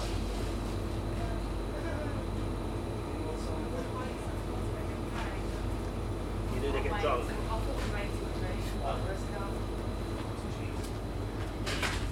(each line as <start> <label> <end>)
0.0 Shopping hum 12.1